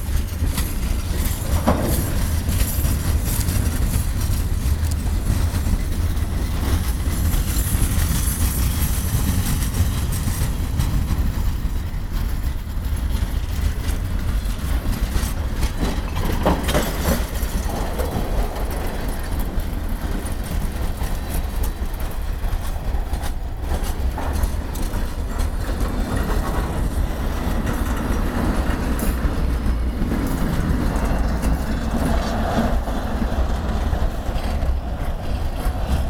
complete train passing 0.0 - 36.0

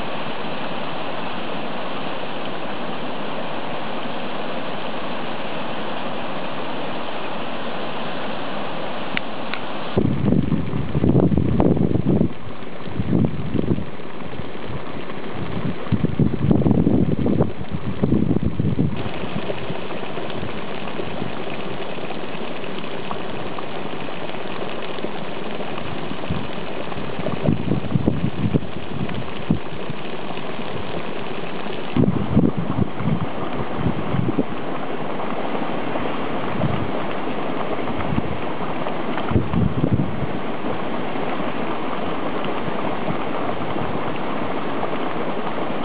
hot water bubbling 0.0 - 45.8
steam coming from the earth 0.0 - 45.8

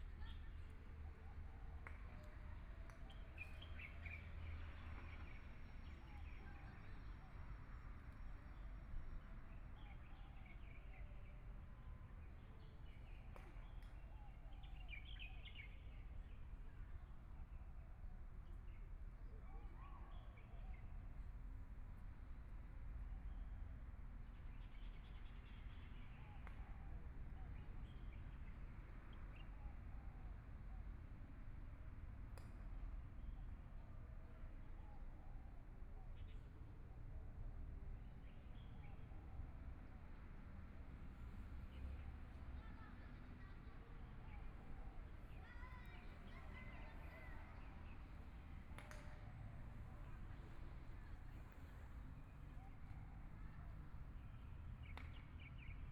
Traffic Sound 39.2 - 55.9

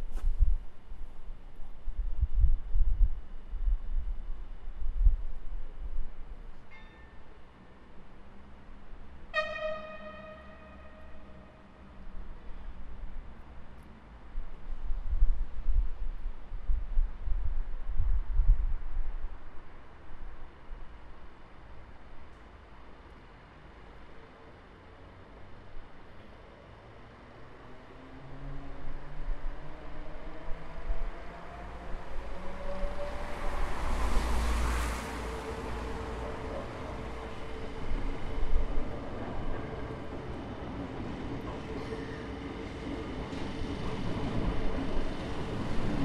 train leaving the Atxuri station 0.8 - 46.0
cars passing by my side 27.6 - 43.0

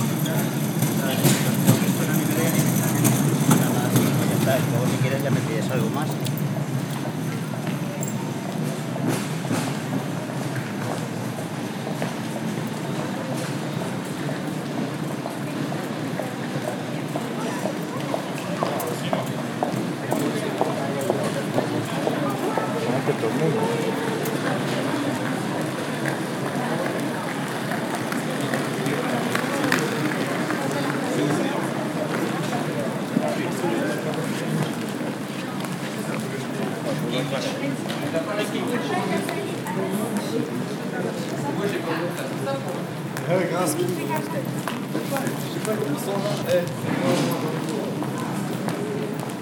Airport walks 0.0 - 49.4

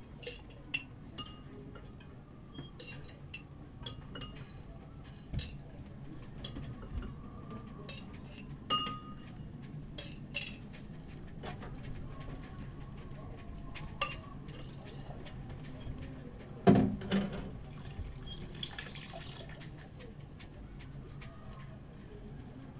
doing the dishes 0.2 - 22.7

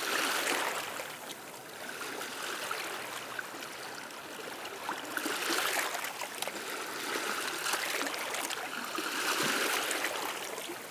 sea 0.0 - 10.9

